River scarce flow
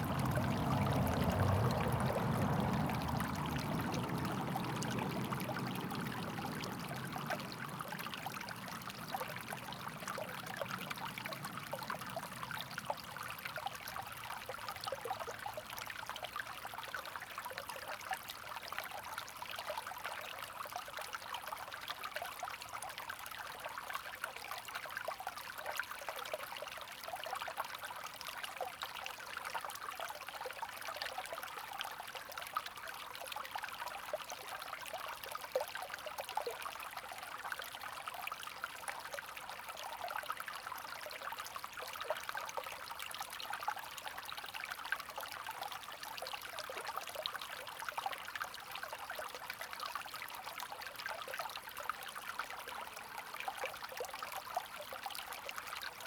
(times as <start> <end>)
0.0 16.3